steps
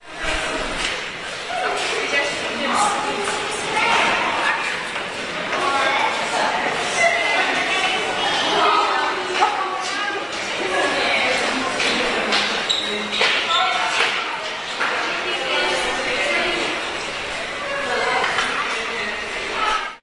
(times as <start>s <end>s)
0.0s 8.3s